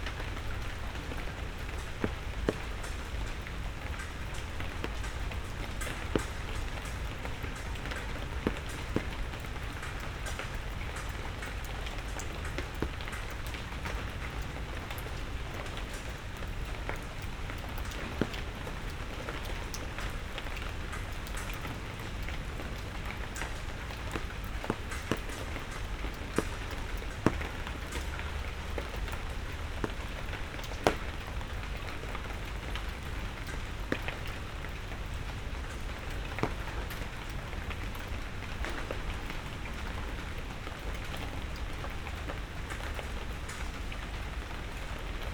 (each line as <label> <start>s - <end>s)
rain 0.0s - 45.3s